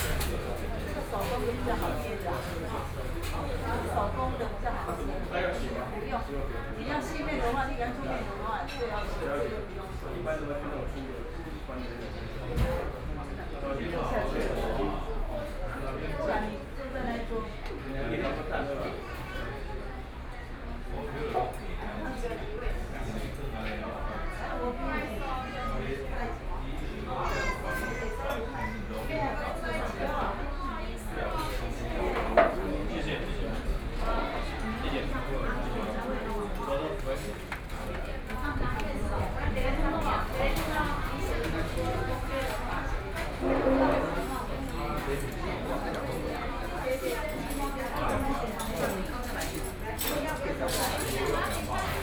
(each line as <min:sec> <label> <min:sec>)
0:00.0 Traffic Sound 0:05.0
0:37.3 Traffic Sound 0:45.7